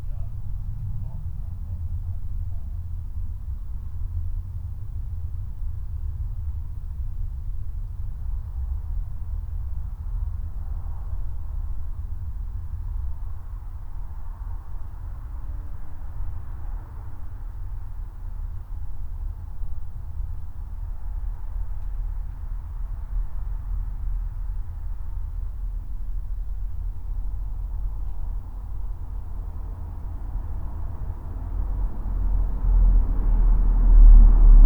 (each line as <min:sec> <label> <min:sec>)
0:00.0 quiet voice 0:02.7
0:00.0 jet plane 0:34.6
0:29.8 car passes 0:34.6